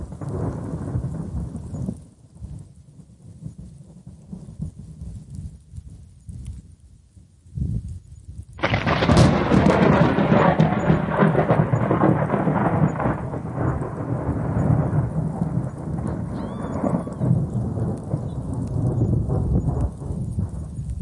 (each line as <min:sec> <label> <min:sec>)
0:00.0 rain 0:21.0
0:00.0 wind 0:21.0
0:08.6 thunder clap 0:21.0